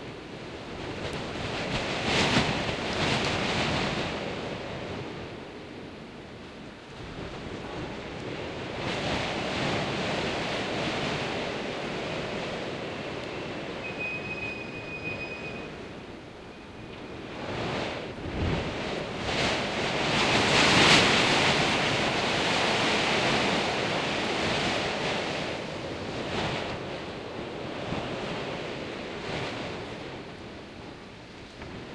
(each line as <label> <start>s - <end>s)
storm howling beyond the large metal window 0.0s - 31.9s